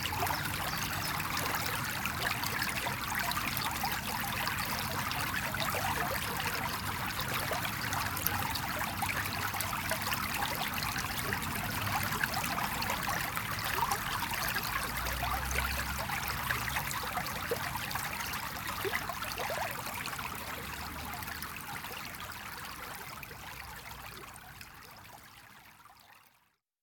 Small river 0:00.0 - 0:26.6

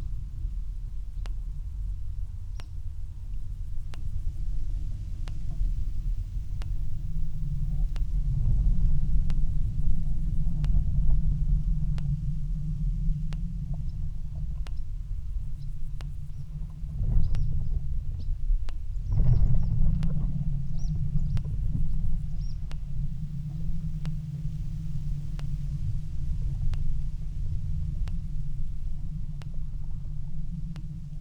drones 0:03.7 - 0:31.2

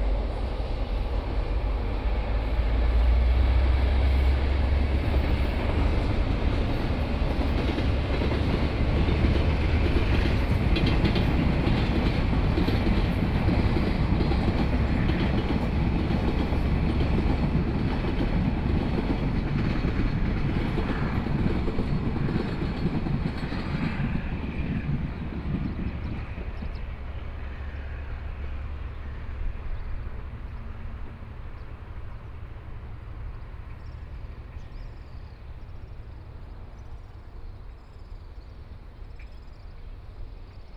distant sound of train traveling through 0:00.0 - 0:40.7

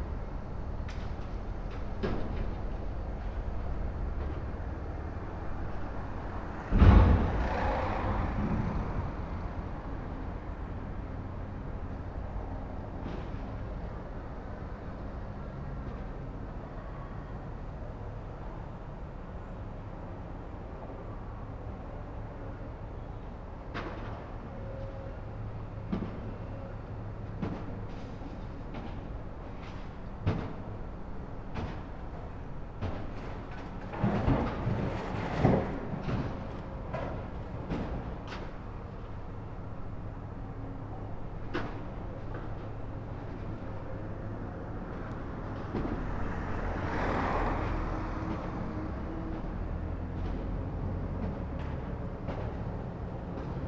excavator with clamshell attachment sorting scrap 0:31.6 - 0:38.6

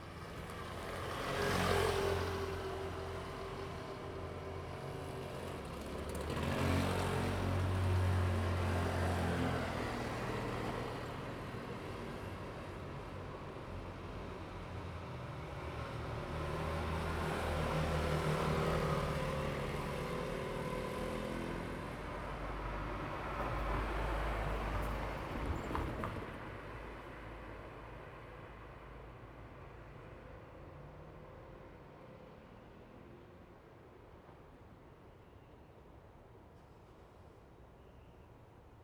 Traffic sound 0:00.0 - 0:37.6
The train runs through 0:23.6 - 0:26.6

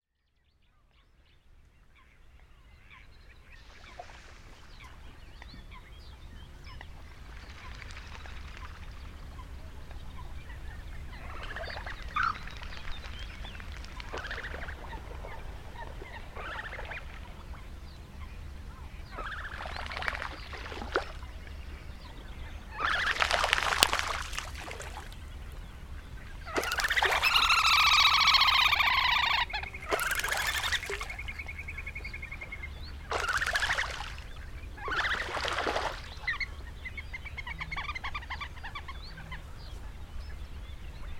Quarrelling Coots 0:26.5 - 0:31.2

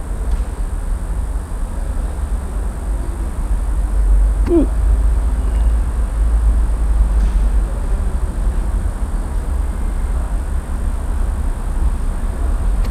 hiccups 0:04.4 - 0:04.8

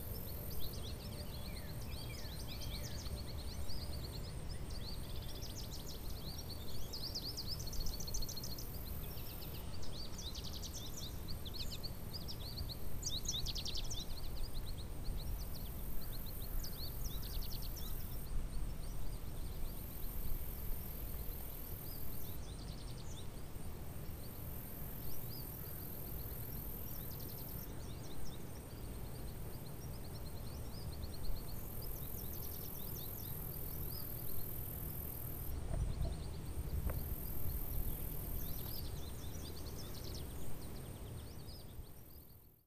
crickets 0:00.0 - 0:42.5
birds 0:00.0 - 0:42.6

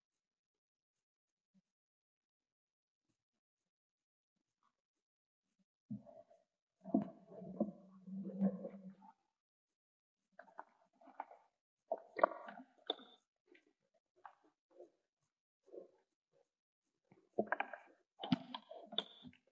Underwater Sounds 0:06.8 - 0:09.1
Underwater Sounds 0:10.4 - 0:13.2

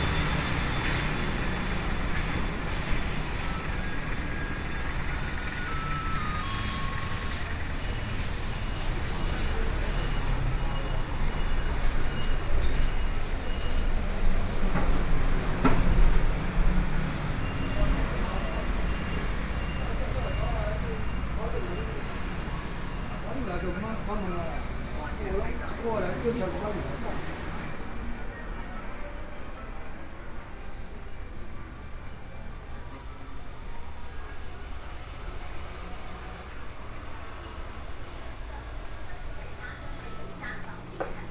Checkout 0:00.0 - 0:41.3
Traffic Noise 0:00.0 - 0:41.3
walking in the Street 0:00.0 - 0:41.3

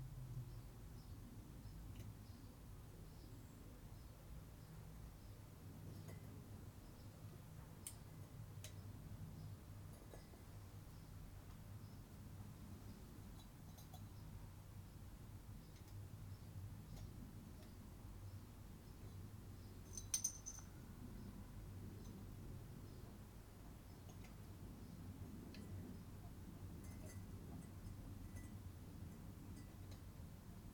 sparrows 0:08.6 - 0:26.2
fiddle around with the fancy bottle-capping device 0:19.9 - 0:20.7

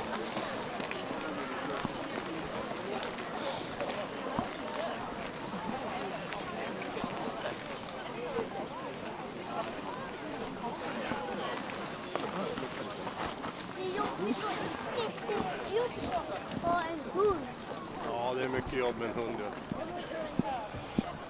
children 0:13.6 - 0:18.0

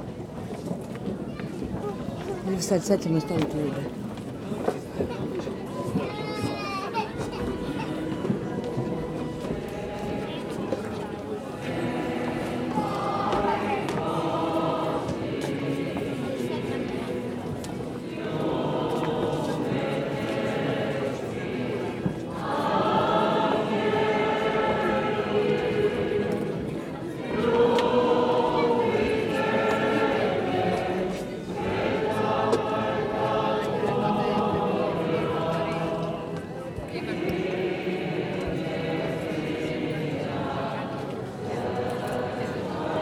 voices in the porch 0:00.0 - 0:43.0
singing inside 0:08.0 - 0:43.0

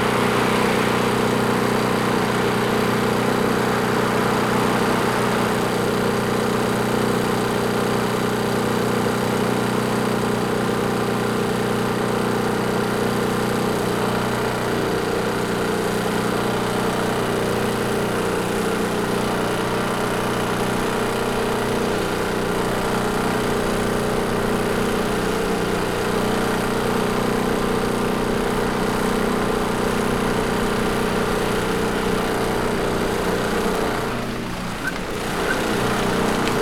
traffic sounds 0:00.0 - 0:06.2
loud portable electric generator 0:00.0 - 0:36.6
traffic sounds 0:31.2 - 0:36.6

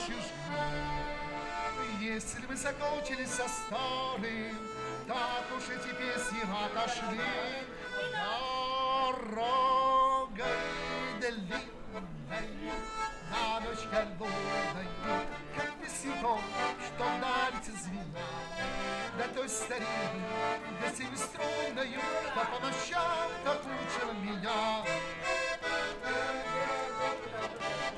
Street Musician 0:00.0 - 0:27.9

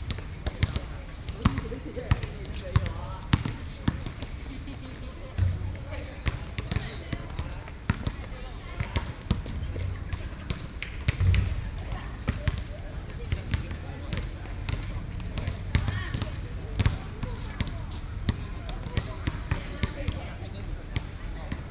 Play basketball 0:00.0 - 0:21.7

